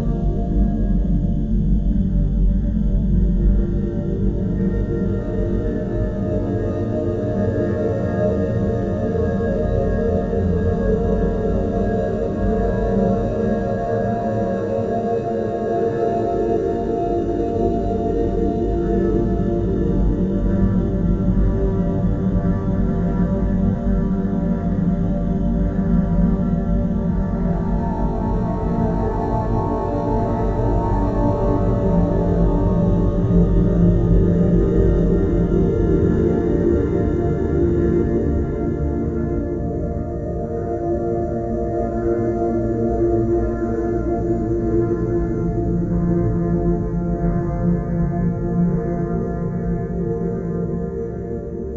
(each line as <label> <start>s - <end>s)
Mellow drone 0.0s - 51.7s